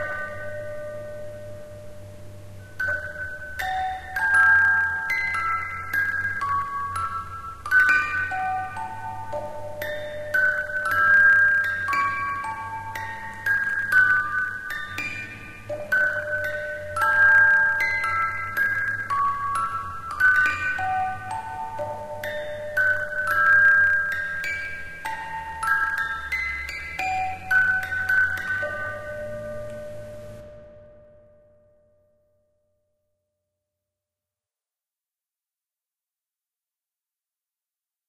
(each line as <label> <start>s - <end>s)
simple old music box 0.0s - 32.0s